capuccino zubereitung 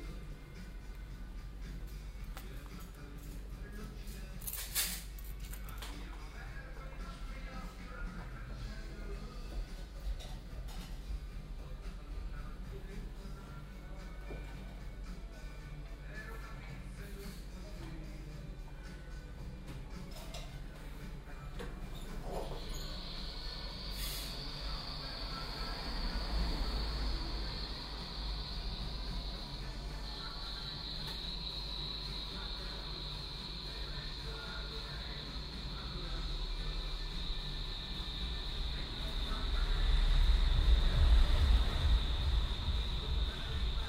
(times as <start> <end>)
19.7 43.8